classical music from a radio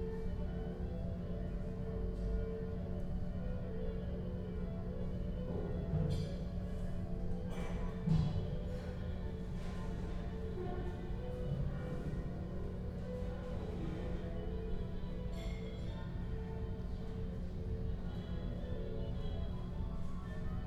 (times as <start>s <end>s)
11.2s 20.6s